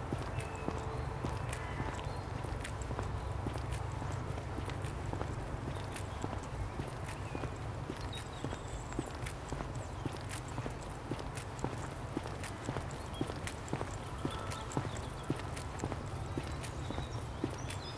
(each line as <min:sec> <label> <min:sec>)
0:00.0 Walking Through Bute Park 0:17.9